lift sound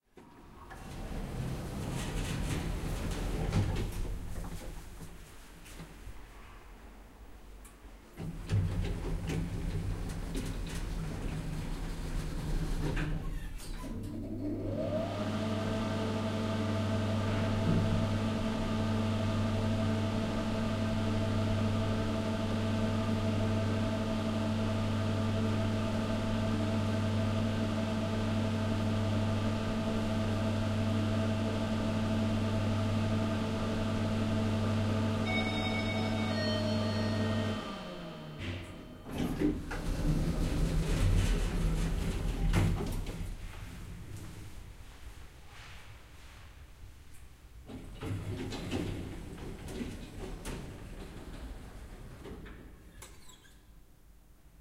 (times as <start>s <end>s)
35.2s 42.6s